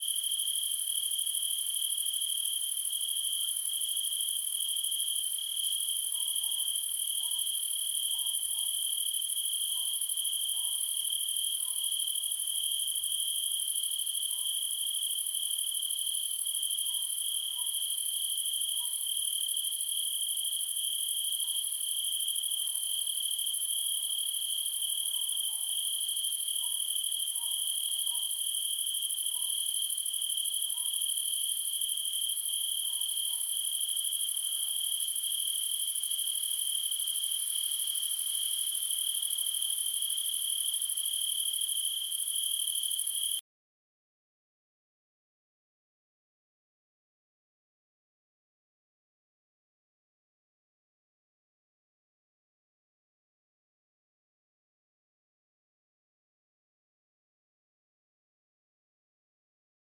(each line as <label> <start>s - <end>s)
Crickets 0.0s - 43.4s